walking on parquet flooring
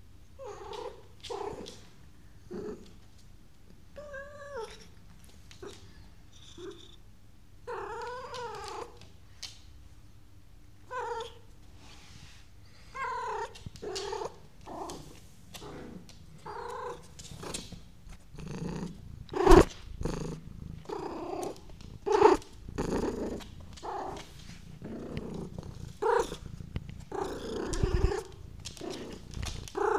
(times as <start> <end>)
13.1 18.4, 19.4 29.9